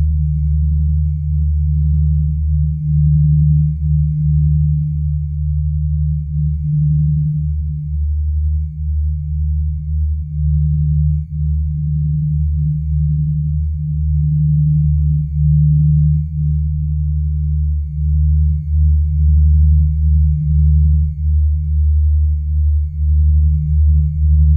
Phase drone sound in the key of D 0:00.0 - 0:24.5

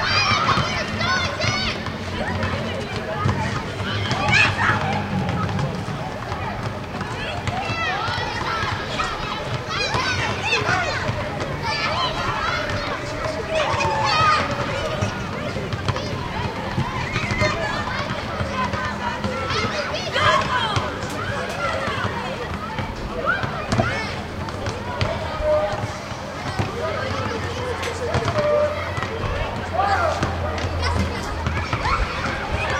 vehicles passing on the street 0:00.0 - 0:32.7
voices of dozens of children 0:00.0 - 0:32.7

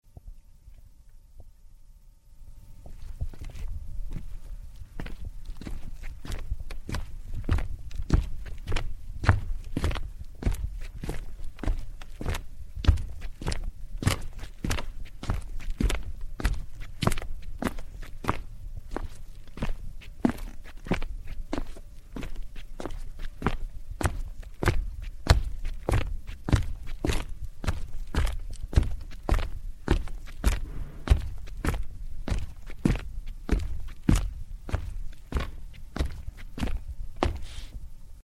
footsteps 0:02.8 - 0:18.4
footsteps 0:30.4 - 0:37.8

